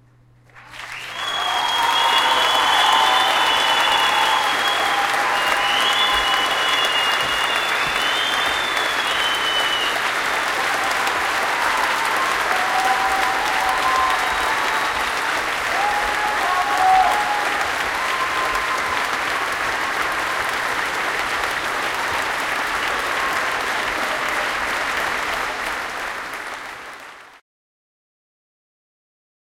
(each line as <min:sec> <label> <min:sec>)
0:00.4 Final applause, big and cool 0:27.4